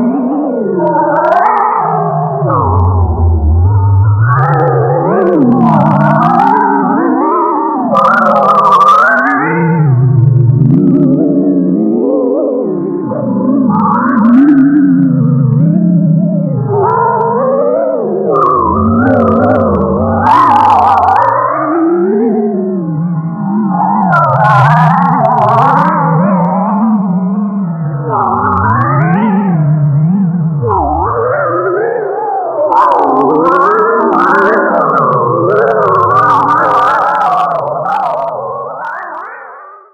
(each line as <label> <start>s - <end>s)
drone 0.0s - 39.9s